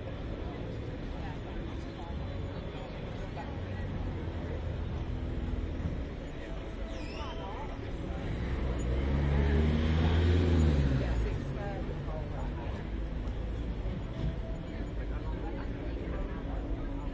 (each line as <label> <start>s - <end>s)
engines 0.0s - 17.1s